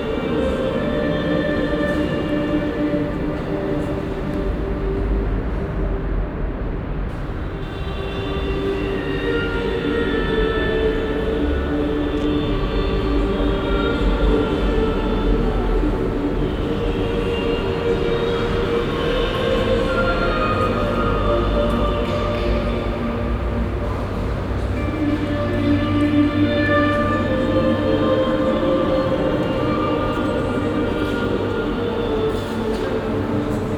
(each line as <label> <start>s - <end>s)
choir recording that is being play backed inside and echoes 0.0s - 33.7s
traffic noise from outside 0.0s - 33.7s